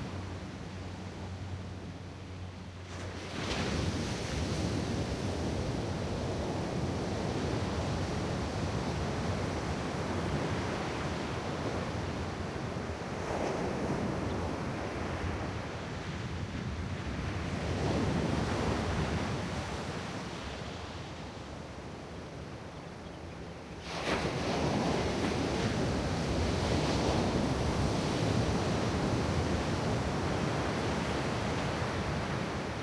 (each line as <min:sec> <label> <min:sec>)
0:02.8 waves on sand 0:16.1
0:23.7 waves on sand 0:32.8